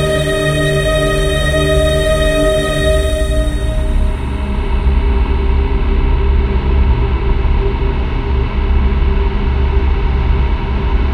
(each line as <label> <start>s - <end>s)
Drone 0.0s - 11.1s